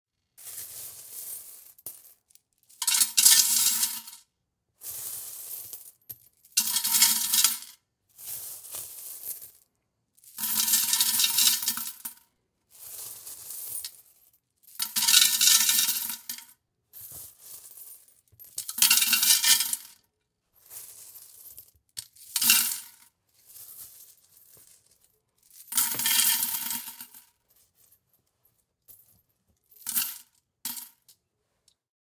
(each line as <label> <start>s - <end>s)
Coins Dropping in Glass Jar 2.8s - 4.2s
Coins Dropping in Glass Jar 6.6s - 7.8s
Coins Dropping in Glass Jar 10.4s - 12.2s
Coins Dropping in Glass Jar 14.8s - 16.5s
Coins Dropping in Glass Jar 17.5s - 20.0s
Coins Dropping in Glass Jar 20.8s - 23.0s
Coins Dropping in Glass Jar 25.6s - 27.3s
Coins Dropping in Glass Jar 29.8s - 31.0s